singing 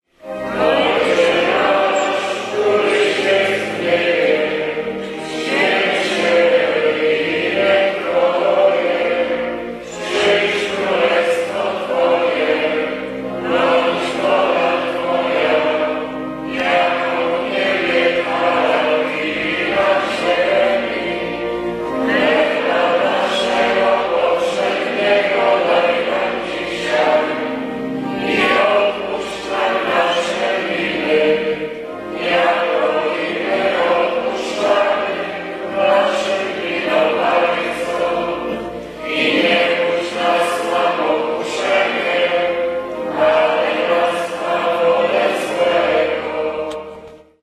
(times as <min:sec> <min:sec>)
0:00.5 0:12.8